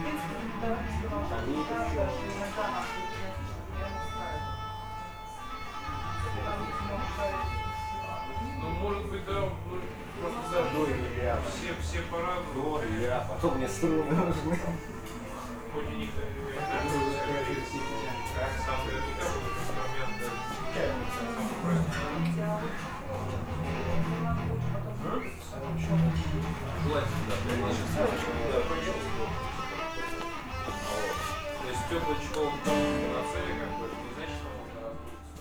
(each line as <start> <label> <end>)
0.0 acoustic guitar 35.4
0.0 electric guitar 35.4
0.0 speech 35.4